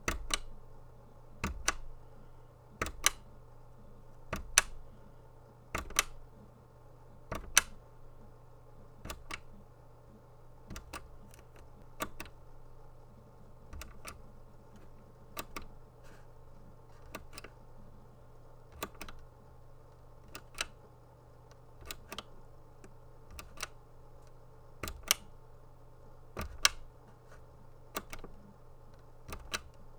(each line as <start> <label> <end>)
1.4 portable CD-G karaoke player power button being pressed on and off 2.0
4.3 portable CD-G karaoke player power button being pressed on and off 4.8
5.8 portable CD-G karaoke player power button being pressed on and off 6.2
7.3 portable CD-G karaoke player power button being pressed on and off 7.8
24.8 portable CD-G karaoke player power button being pressed on and off 25.4
26.4 portable CD-G karaoke player power button being pressed on and off 26.9